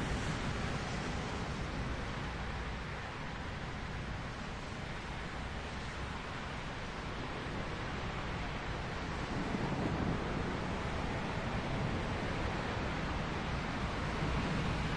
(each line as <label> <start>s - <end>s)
Heavy rain 0.0s - 14.9s